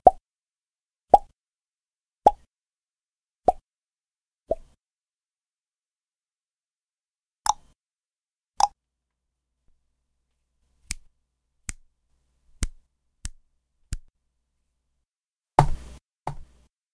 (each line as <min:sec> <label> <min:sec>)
0:01.1 mouth bubble pop sounds 0:01.3
0:02.2 mouth bubble pop sounds 0:02.5
0:07.4 mouth bubble pop sounds 0:07.8